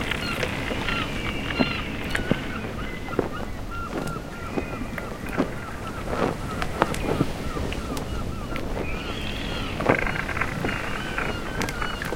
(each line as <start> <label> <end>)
0.0 ocean 12.1
0.0 sail 12.1
0.0 wind 12.1